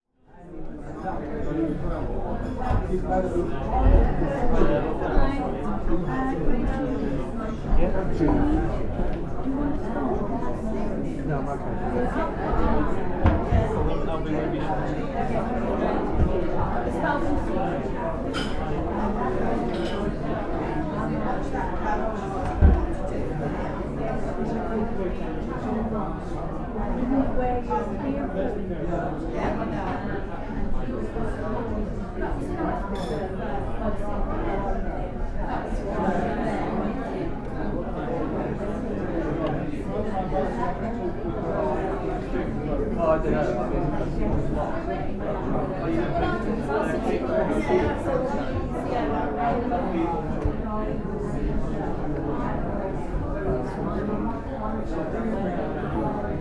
0.2s crowd of pensioners 56.4s

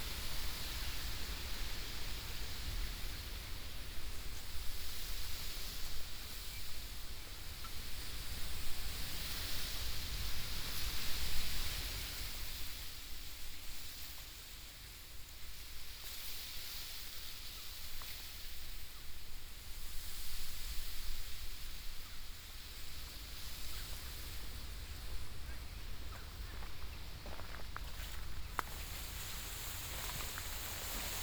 24.6s train in background 31.2s
28.0s rustling sheer 31.2s

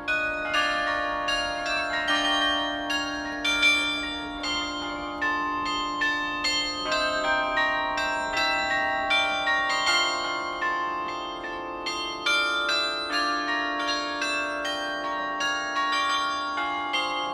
0.0s carillon 17.3s

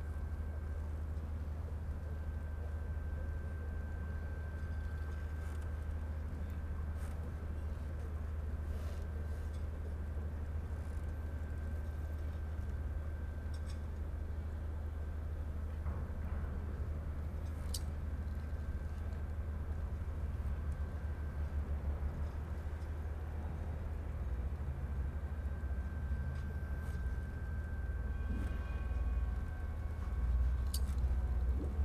0.0s boats 31.8s

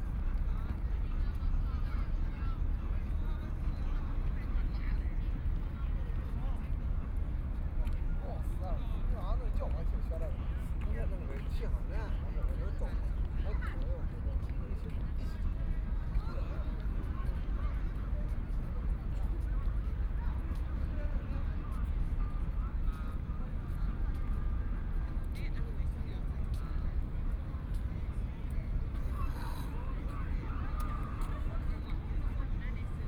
0.0s Many tourists 33.0s

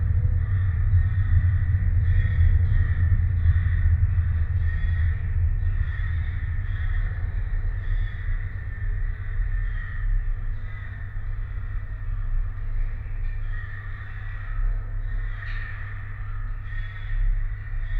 0.0s transport drone 13.2s
0.2s hundreds of crows 17.9s

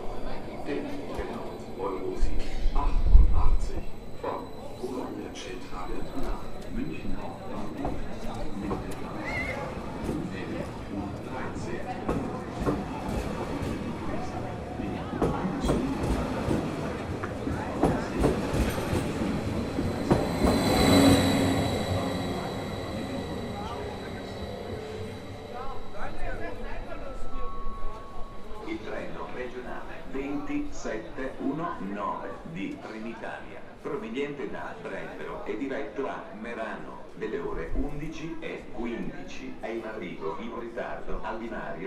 0.0s local train is coming 41.8s
0.0s train drives through the station 41.8s
0.0s wind 41.8s

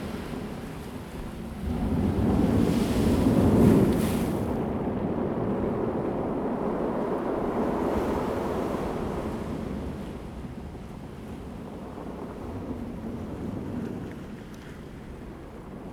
0.0s waves 5.0s
6.7s waves 15.9s

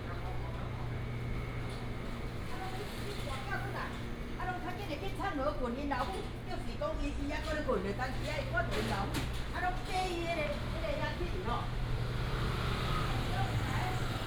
10.3s Traffic sound 14.2s

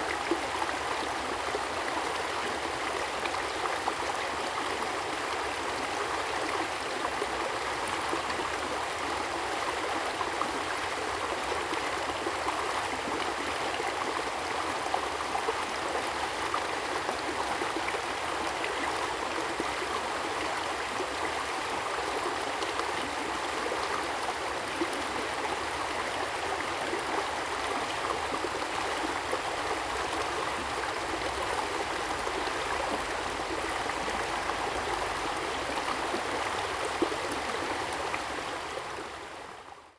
0.0s Stream 39.9s

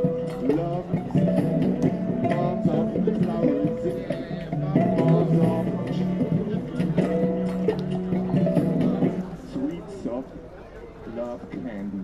0.0s Kalyuka 9.4s
0.0s Bouzuki 10.2s

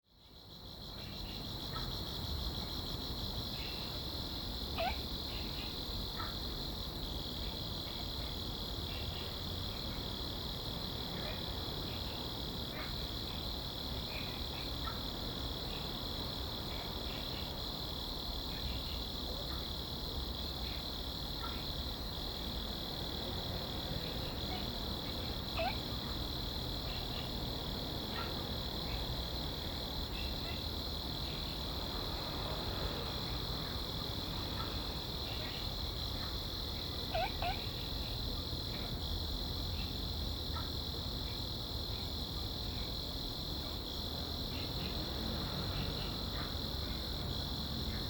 0.0s insects 48.0s
4.8s Frog sound 6.4s
24.0s Frog sound 27.3s
37.0s Frog sound 38.1s

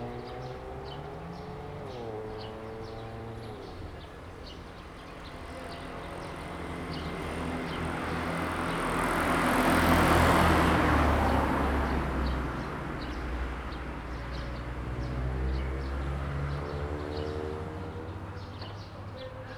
0.0s Traffic sound 19.5s

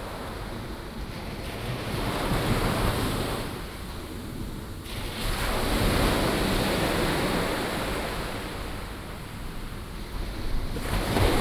4.8s waves 11.4s

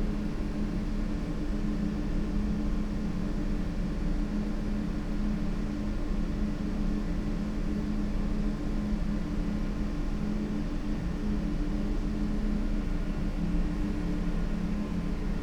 9.4s interfering ventilation drones 15.4s

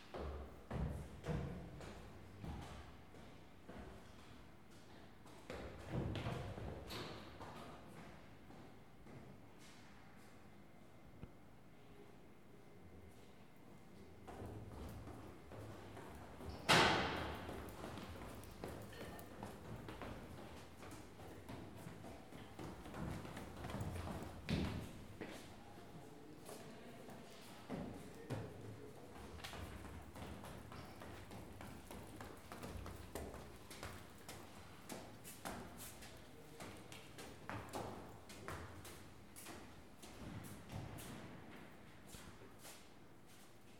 0.0s People going up/down stairs 10.5s
13.0s People going up/down stairs 43.7s

